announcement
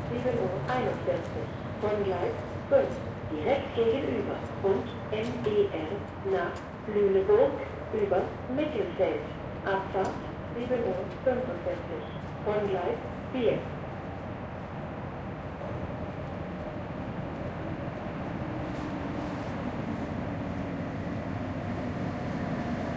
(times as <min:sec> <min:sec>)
0:00.1 0:13.8